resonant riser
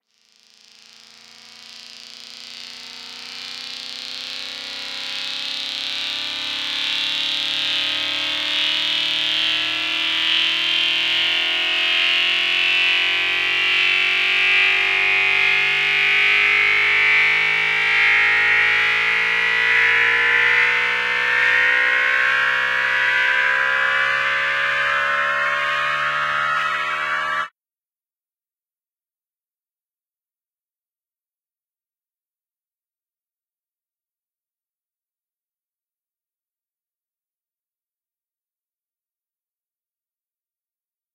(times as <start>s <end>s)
13.2s 27.5s